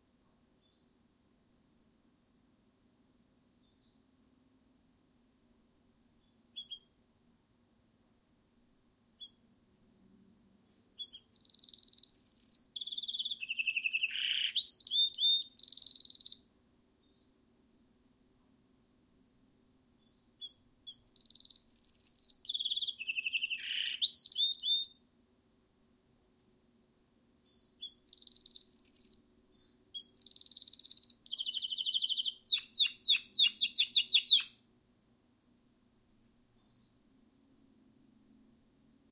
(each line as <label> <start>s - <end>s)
stinking birds to sing 10.8s - 16.4s
stinking birds to sing 20.1s - 25.0s
stinking birds to sing 27.5s - 34.6s